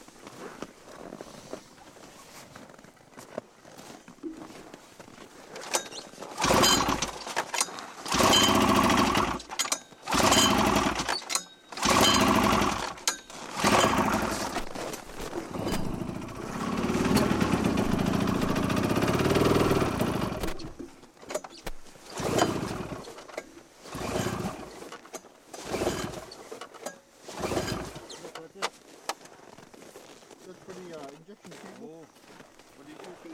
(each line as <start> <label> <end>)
5.6 snowmobile false starts pulling cord3 21.5
22.1 snowmobile false starts pulling cord3 28.8